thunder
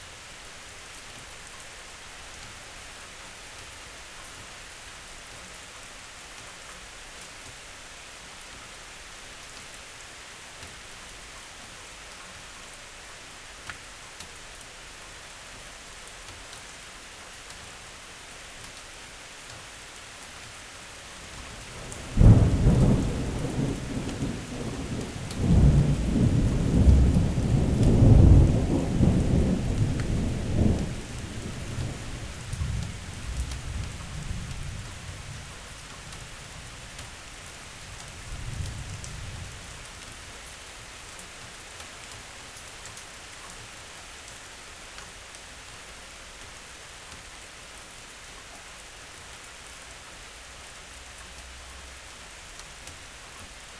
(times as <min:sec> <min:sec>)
0:21.5 0:34.8